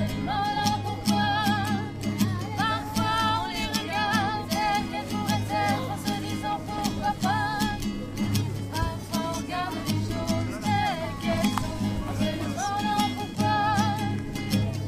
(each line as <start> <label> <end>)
0.0 young girls singing 8.0
8.7 young girls singing 14.4